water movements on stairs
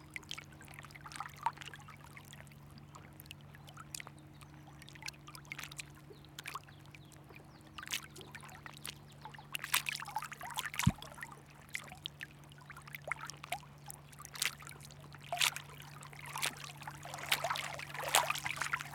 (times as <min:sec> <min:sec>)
0:09.6 0:12.0, 0:14.2 0:18.9